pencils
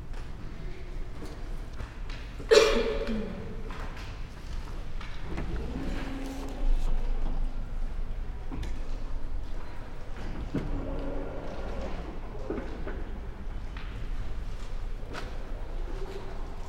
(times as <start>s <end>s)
5.5s 7.0s